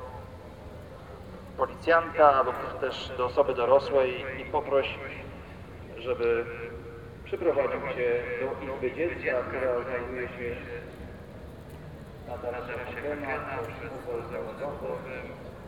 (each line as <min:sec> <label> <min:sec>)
0:01.6 announcement calling for the lost kid 0:11.0
0:12.3 announcement calling for the lost kid 0:15.6